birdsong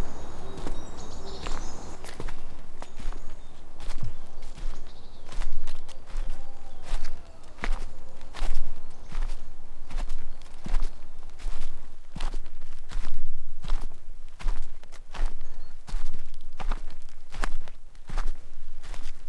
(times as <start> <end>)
0.0 12.3, 14.6 16.8